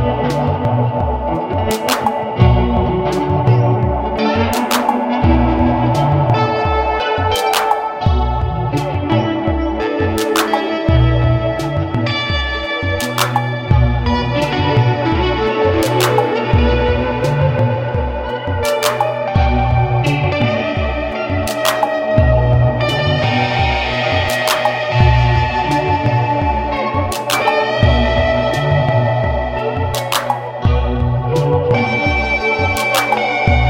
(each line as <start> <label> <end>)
0.0 drum machine 33.6
0.0 elecric guitar 33.6